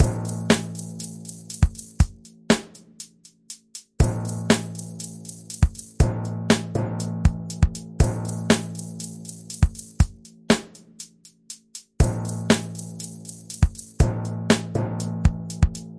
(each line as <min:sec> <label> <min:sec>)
0:05.6 Timpani drum 0:11.0